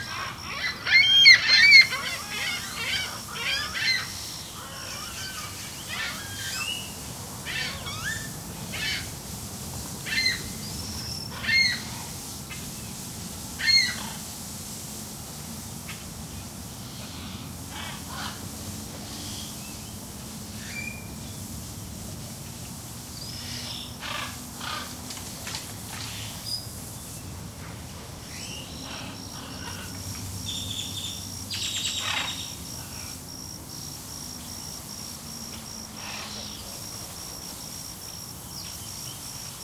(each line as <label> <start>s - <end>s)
macaws 0.0s - 9.1s
water 0.0s - 33.7s
zookeeper was cleaning the aviary 0.0s - 39.6s
macaws 11.3s - 12.2s
macaws 13.6s - 14.2s
macaws 16.8s - 19.6s
wild grackles 16.9s - 19.6s
wild grackles 23.4s - 26.4s
macaws 23.4s - 26.4s
spoonbills 28.2s - 33.5s
macaws 28.3s - 33.2s
wild grackles 28.3s - 33.2s
macaws 36.0s - 36.8s
wild grackles 36.0s - 37.0s